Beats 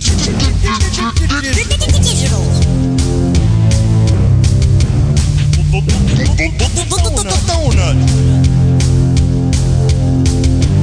3.6 9.3

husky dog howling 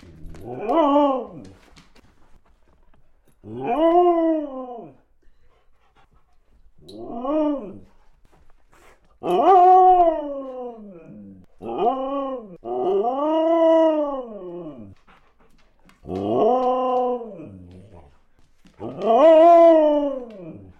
0.4 1.6, 3.4 5.1, 6.9 7.9, 9.2 15.0, 16.0 18.0, 18.8 20.7

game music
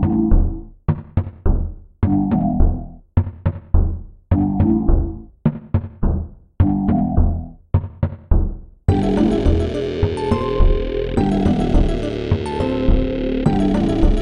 8.9 14.2

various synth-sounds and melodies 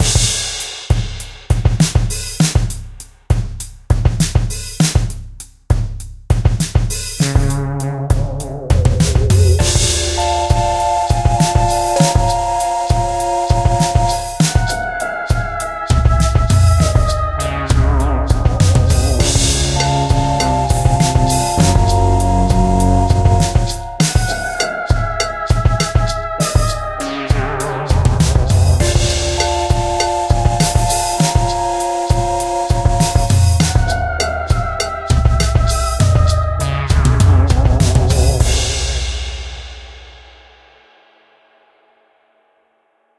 7.2 25.3, 26.5 38.6

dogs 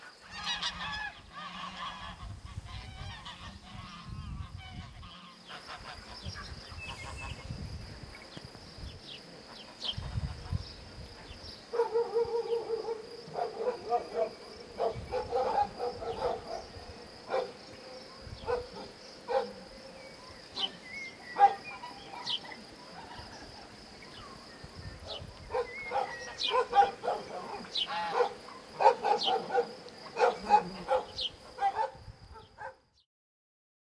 11.7 19.6, 21.4 22.6, 25.0 32.9

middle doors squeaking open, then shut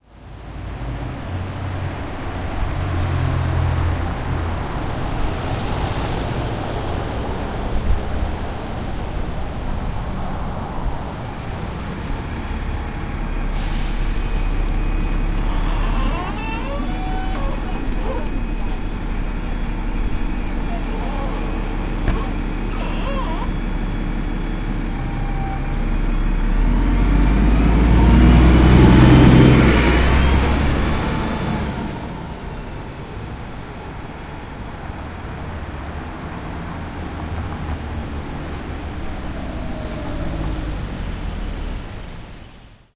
14.4 25.8

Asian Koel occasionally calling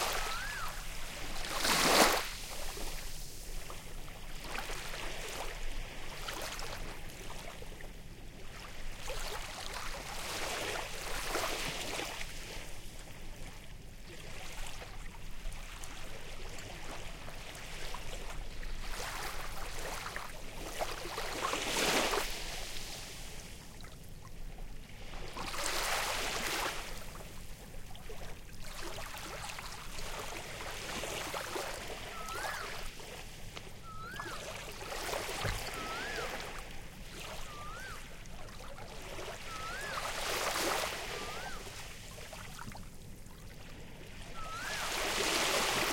0.0 0.9, 31.9 33.0, 33.6 38.3, 39.2 42.0, 44.4 45.2

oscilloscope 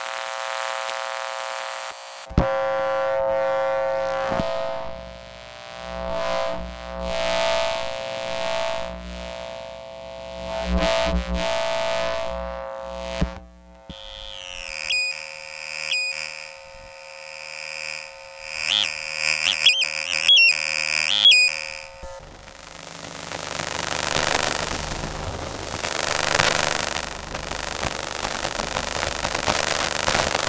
10.2 30.4

